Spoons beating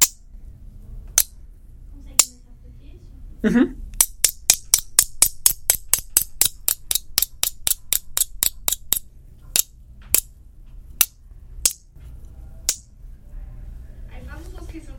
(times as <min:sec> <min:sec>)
0:00.0 0:00.2, 0:04.0 0:10.3, 0:11.0 0:11.9